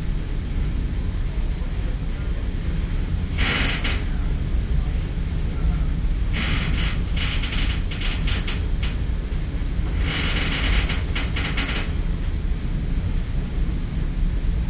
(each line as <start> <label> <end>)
3.4 metal creaking 4.2
6.3 metal creaking 12.1